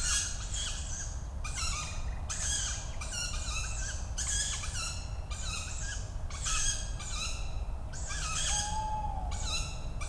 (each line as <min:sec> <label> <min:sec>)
0:08.2 young Tawny owls calling 0:09.6